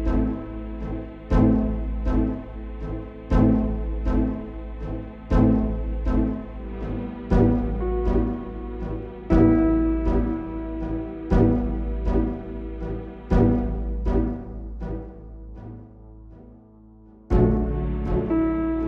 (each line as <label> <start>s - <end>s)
viola 0.0s - 16.0s
piano 0.0s - 18.8s
strings 0.0s - 18.8s
viola 17.3s - 18.8s